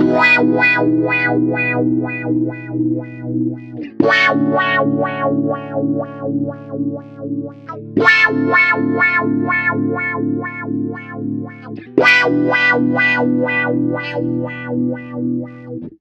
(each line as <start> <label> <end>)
0.0 Wah-wah on stratocaster guitar 16.0